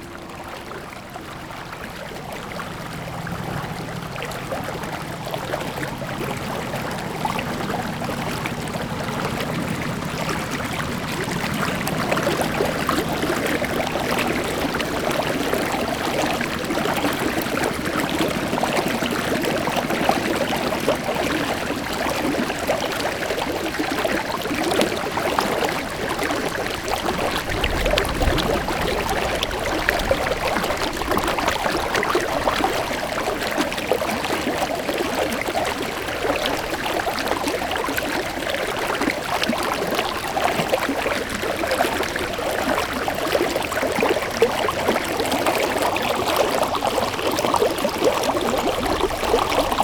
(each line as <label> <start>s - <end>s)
fountain 0.0s - 49.8s